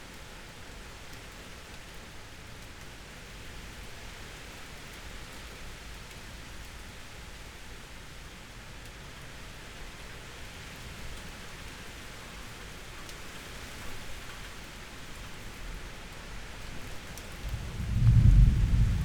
wind 0.0 - 19.0
raindrops 0.0 - 19.0
thunder 17.4 - 19.0

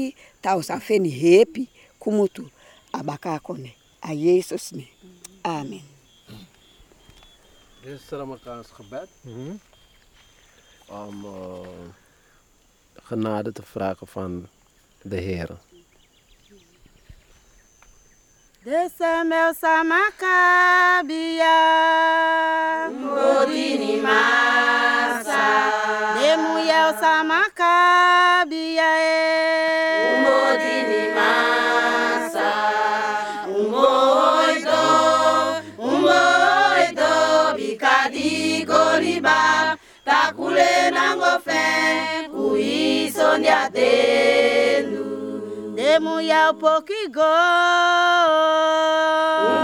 village women singing 18.6 - 49.6

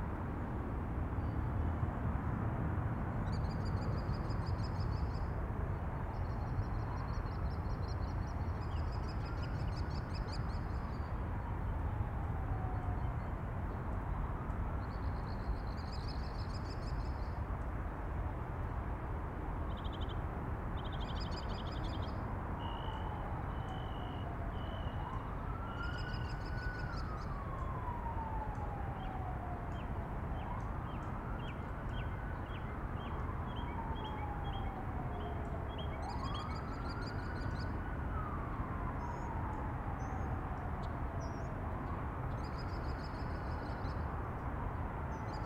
fire engine sirens 12.0 - 13.0
fire engine sirens 22.6 - 42.3

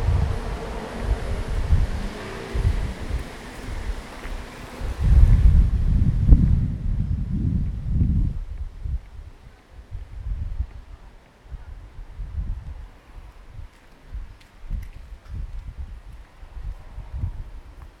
trains 0.0 - 5.6

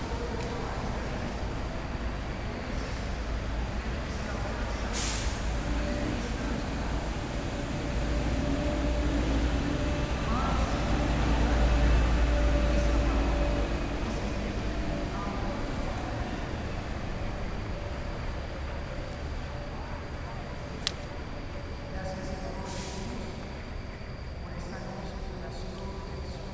bus 0.0 - 26.5

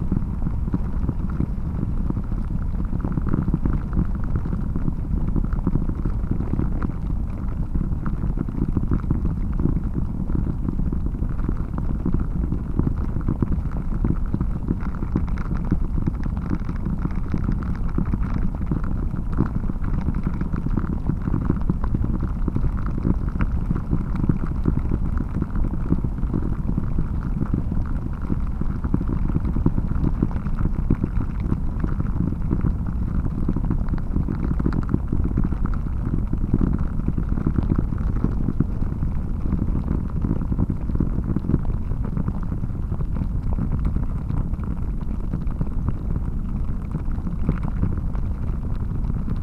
low rumble of water running in the ground 0.0 - 49.4

